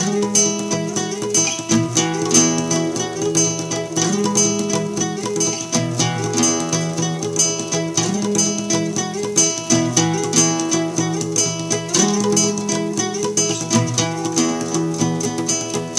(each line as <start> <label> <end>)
0.0 acoustic guitar 15.9